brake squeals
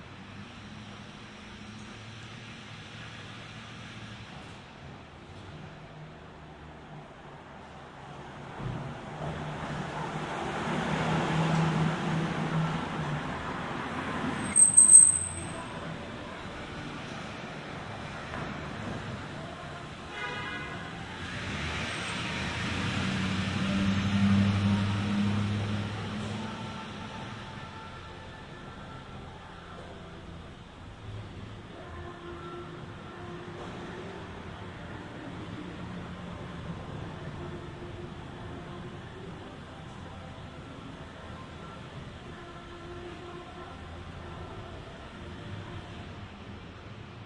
14.2s 15.9s

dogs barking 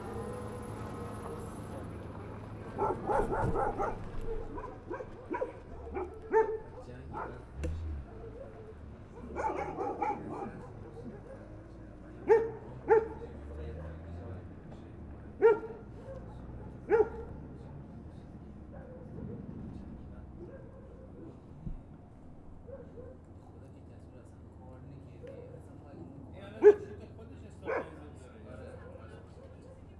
2.6s 14.5s, 15.3s 19.6s, 20.3s 21.5s, 22.6s 23.3s, 26.6s 27.0s, 27.6s 28.1s

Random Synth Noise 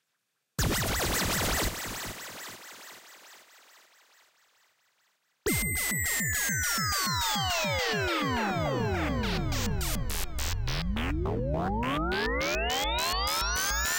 0.6s 5.4s

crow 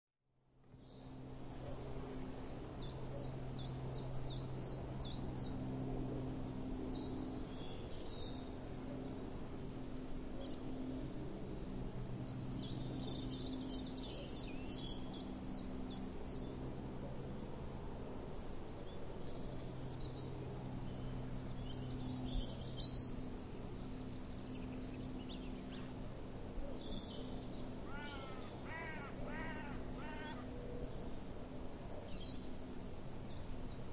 27.8s 30.5s

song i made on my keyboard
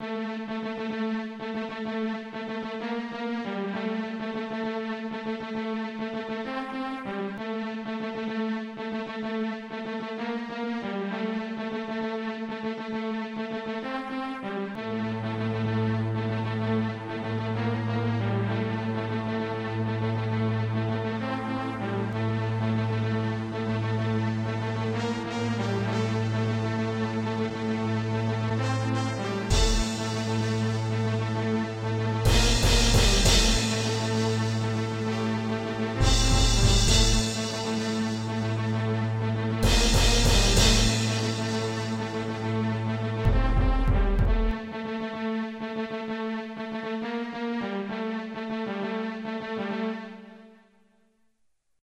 16.8s 50.6s

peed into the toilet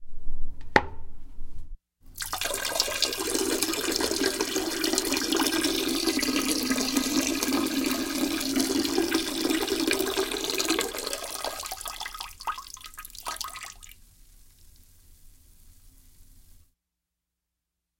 2.1s 15.8s

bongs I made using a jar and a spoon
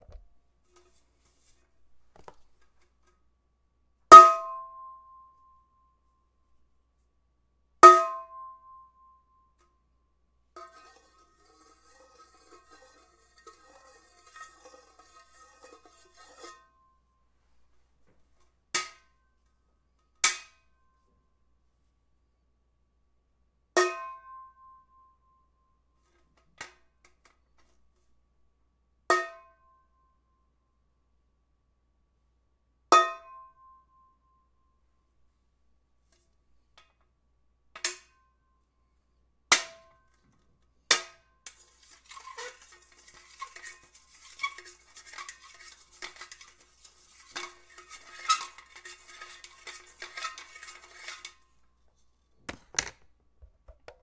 40.1s 54.0s

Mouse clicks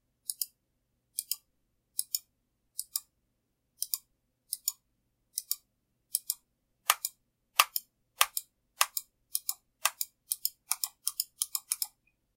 3.8s 12.2s

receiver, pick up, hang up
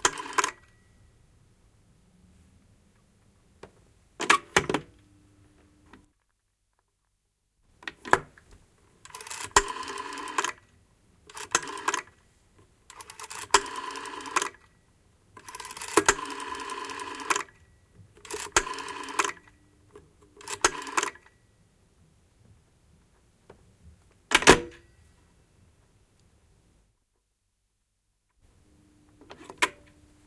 24.3s 24.9s

